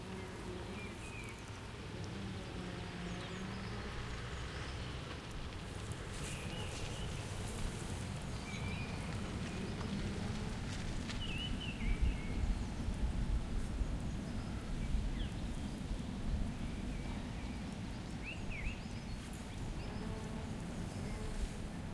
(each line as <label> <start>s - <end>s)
Leaves in wind 0.0s - 21.9s
birds 0.0s - 21.9s